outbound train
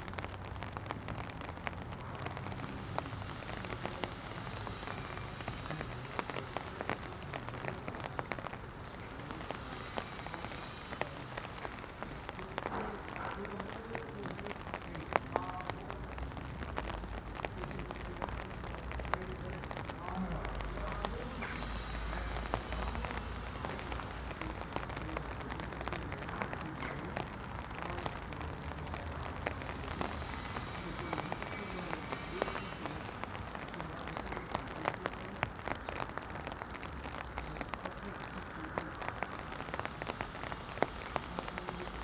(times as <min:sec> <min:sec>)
0:08.9 0:13.4, 0:29.1 0:35.1